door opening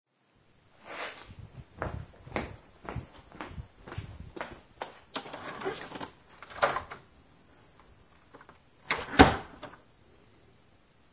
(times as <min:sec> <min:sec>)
0:05.2 0:07.1, 0:08.3 0:09.8